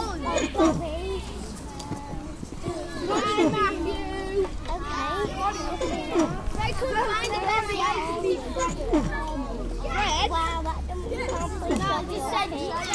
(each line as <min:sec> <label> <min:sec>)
0:00.0 Children playing 0:12.9
0:00.0 Swings 0:12.9